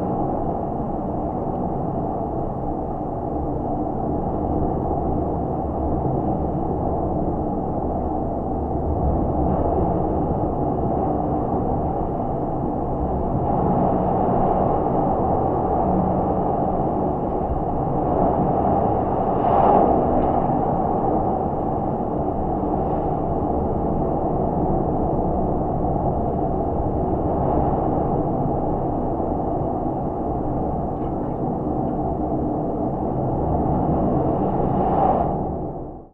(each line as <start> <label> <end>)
0.0 Very windy 36.1